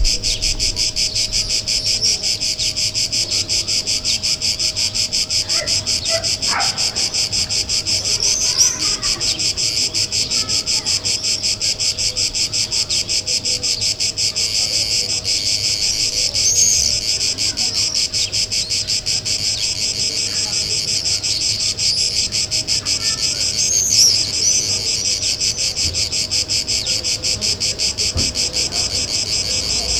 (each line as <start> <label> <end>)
0.0 grasshopper 29.9